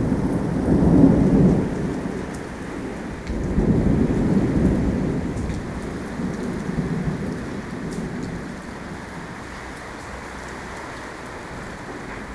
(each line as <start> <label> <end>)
0.0 mighty thunderstorm 9.4